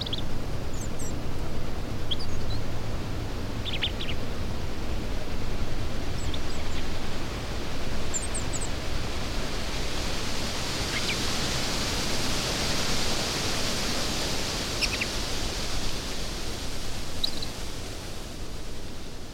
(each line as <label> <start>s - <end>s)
Robin singing 0.0s - 1.2s
Robin singing 2.0s - 2.8s
Robin singing 3.6s - 4.8s
Robin singing 5.9s - 7.1s
Robin singing 7.8s - 8.7s
Robin singing 14.8s - 15.2s
Robin singing 17.1s - 17.6s